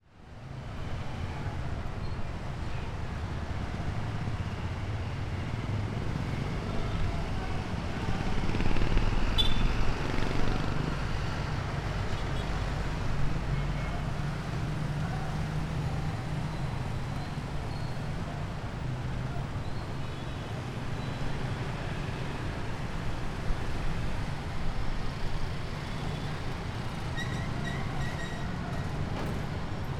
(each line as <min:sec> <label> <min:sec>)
0:00.2 trucks 0:29.9
0:00.4 cars 0:29.9
0:01.0 jeepneys 0:29.9
0:03.7 motorcycles 0:27.0
0:09.4 bus honking 0:09.8